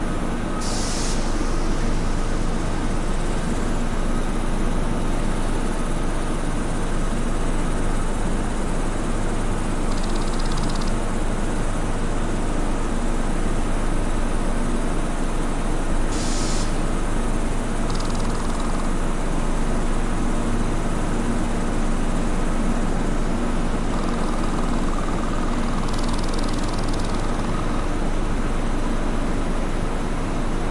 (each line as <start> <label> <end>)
0.0 insect 30.7
0.0 machine 30.7
0.6 hiss 2.0
16.1 hiss 16.8